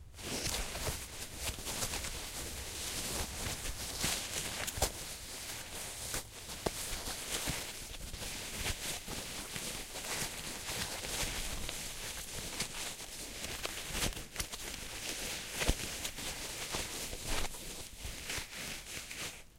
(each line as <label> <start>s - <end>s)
rustling sounds 0.0s - 19.5s
scratch 0.2s - 19.5s